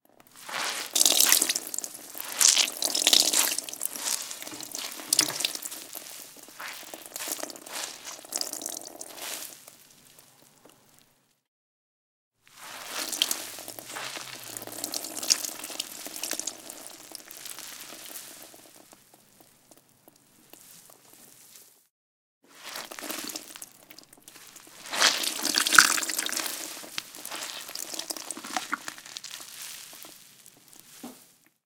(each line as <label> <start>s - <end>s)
mop squeeze water drops into plastic bucket 0.1s - 10.0s
mop squeeze water drops into plastic bucket 12.5s - 20.2s
mop squeeze water drops into plastic bucket 22.5s - 31.4s